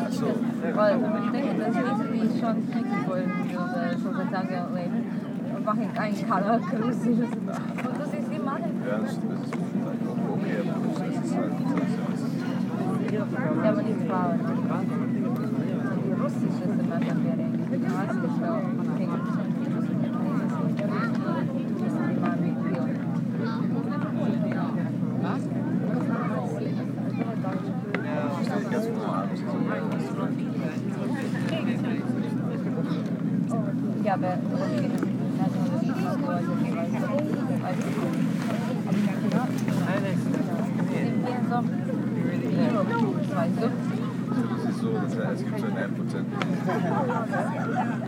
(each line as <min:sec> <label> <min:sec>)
0:00.0 tourists 0:48.0